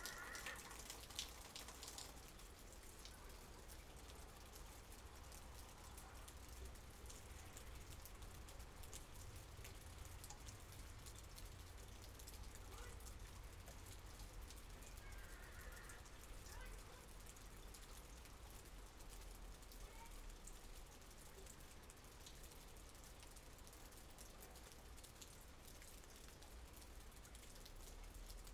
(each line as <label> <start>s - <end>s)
animals 0.0s - 0.9s
Rain 0.0s - 28.5s